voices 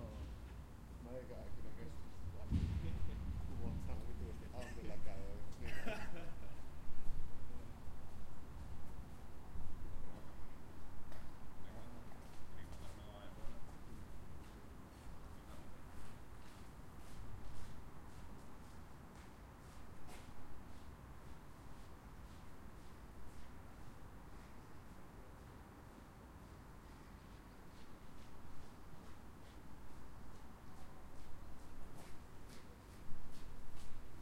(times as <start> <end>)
1.0 6.2